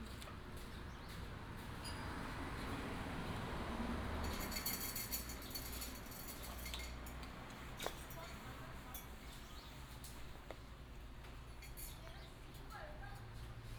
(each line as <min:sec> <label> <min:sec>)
0:00.0 Traffic sound 0:11.2